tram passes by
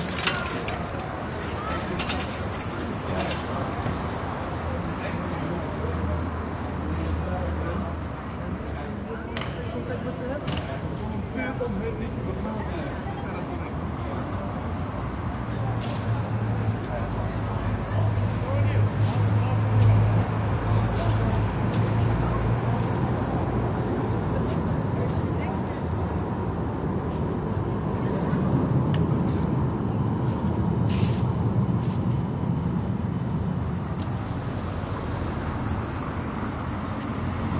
0:11.1 0:37.5

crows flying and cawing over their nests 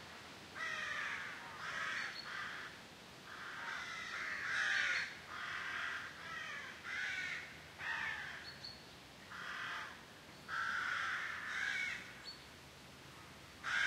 0:00.6 0:08.4, 0:09.3 0:12.2, 0:13.6 0:13.8

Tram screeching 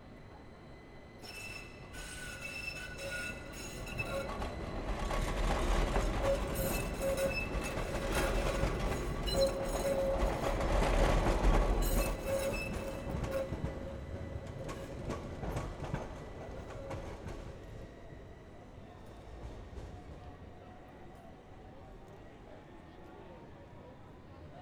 0:01.2 0:15.4

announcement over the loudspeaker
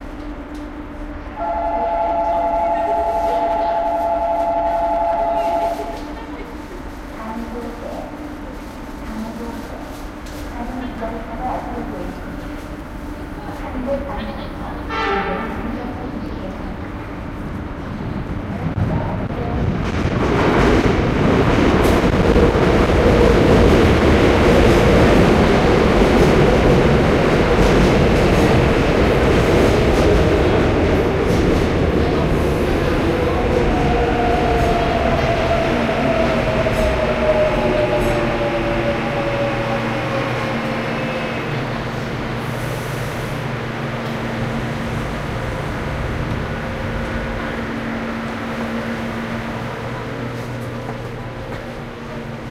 0:01.4 0:06.2

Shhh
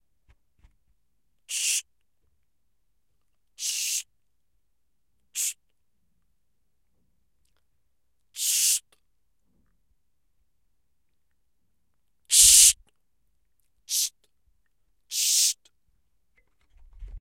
0:01.5 0:01.9, 0:03.6 0:04.1, 0:05.3 0:05.6, 0:08.4 0:09.0, 0:12.3 0:12.8, 0:13.9 0:14.2, 0:15.1 0:15.7

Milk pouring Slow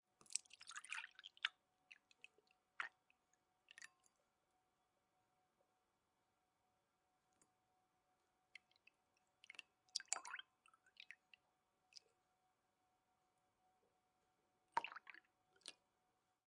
0:00.2 0:04.4, 0:08.5 0:12.3, 0:14.6 0:16.0

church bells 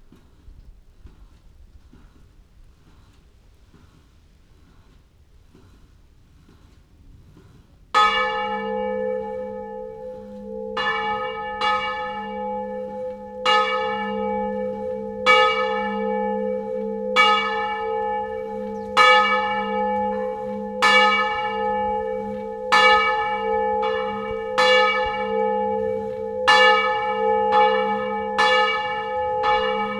0:07.9 0:29.9

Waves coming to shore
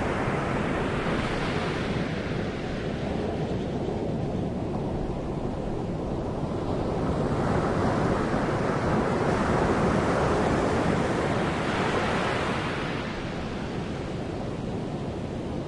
0:07.0 0:15.6

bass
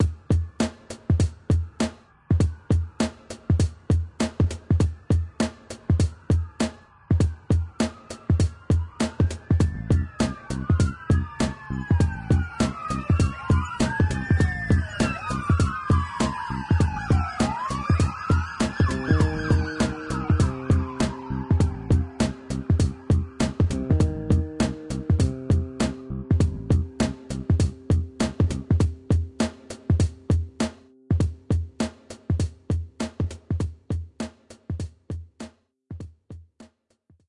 0:09.5 0:29.4

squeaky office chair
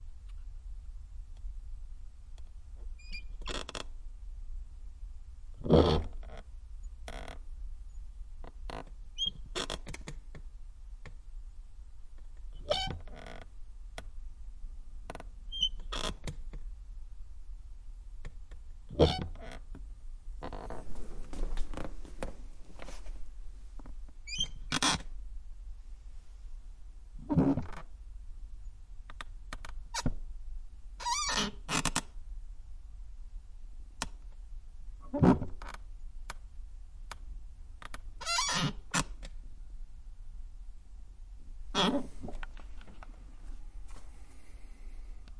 0:03.0 0:03.8, 0:12.6 0:13.4, 0:15.5 0:16.3, 0:18.9 0:19.6, 0:20.4 0:23.0, 0:24.3 0:25.0, 0:27.3 0:27.8, 0:31.0 0:31.8, 0:38.2 0:38.8, 0:41.7 0:42.9

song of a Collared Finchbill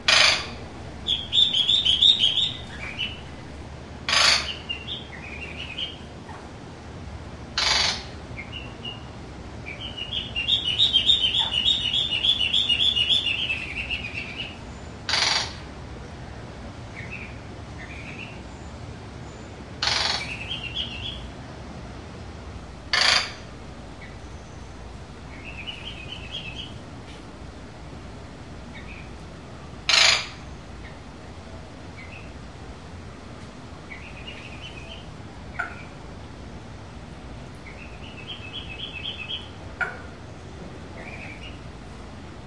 0:00.0 0:06.1, 0:07.6 0:15.6, 0:16.9 0:21.3, 0:23.0 0:26.8, 0:28.7 0:29.2, 0:31.9 0:32.5, 0:33.8 0:36.0, 0:37.6 0:41.7

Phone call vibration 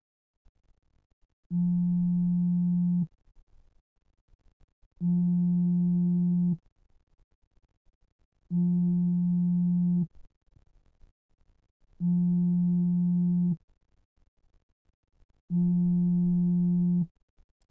0:01.5 0:03.1, 0:05.0 0:06.6, 0:08.5 0:10.1, 0:12.0 0:13.6, 0:15.5 0:17.1

